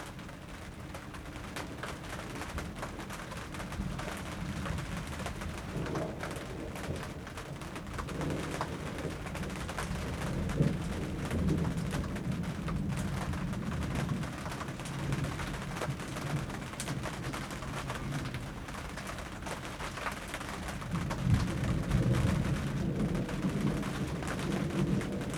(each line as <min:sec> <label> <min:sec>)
0:00.0 rain hits the tarp 0:25.3
0:01.2 thunderstorm 0:25.3